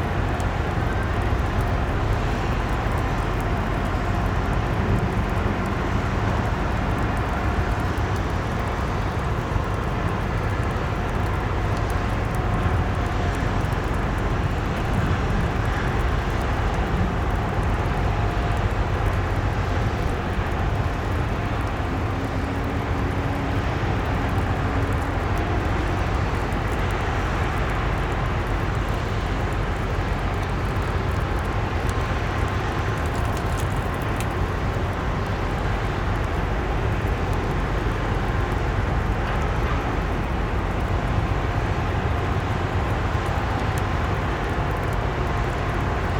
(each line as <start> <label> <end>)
0.0 rain 46.1
0.0 vessels anchored close to the shore make a constant mechanic noise 46.1